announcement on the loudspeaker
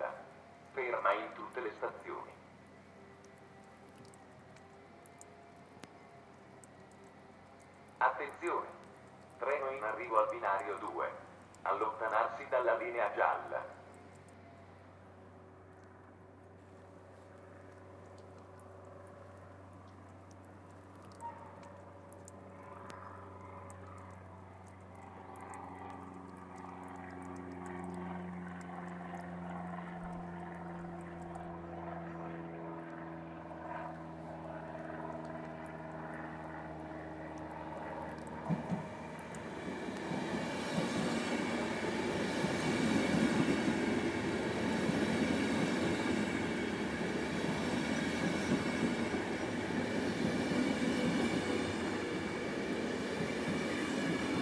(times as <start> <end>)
0.0 2.4, 8.0 8.8, 9.4 13.8